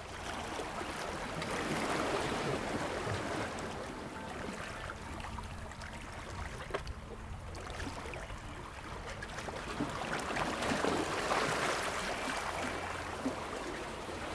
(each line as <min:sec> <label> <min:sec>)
0:00.0 water was lapping against the rocks 0:14.3